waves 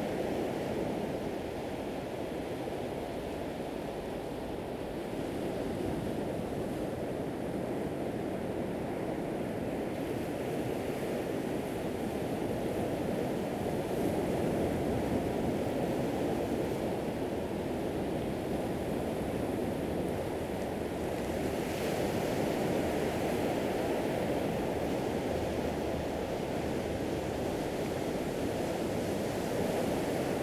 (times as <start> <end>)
15.0 30.4